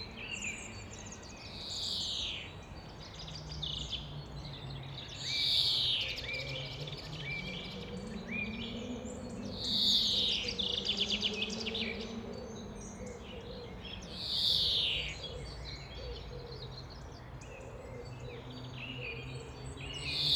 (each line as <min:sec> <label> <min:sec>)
0:00.0 birds 0:20.3